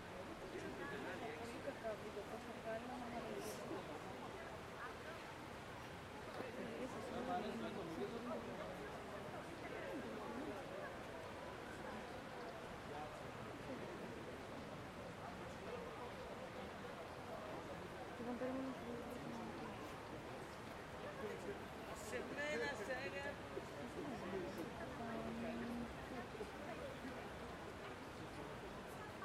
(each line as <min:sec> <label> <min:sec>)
0:00.0 people passing by 0:29.2
0:00.0 River flow 0:09.7
0:00.5 people discussing in groups 0:14.2
0:15.1 people discussing in groups 0:27.8